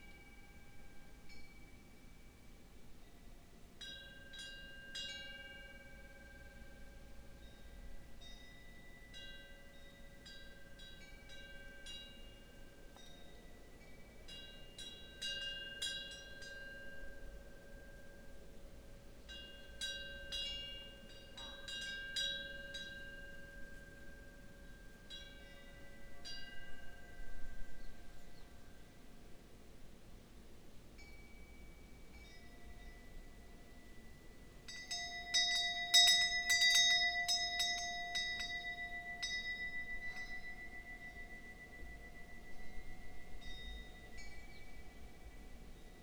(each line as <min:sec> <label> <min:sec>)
0:00.0 Wind bells 0:46.0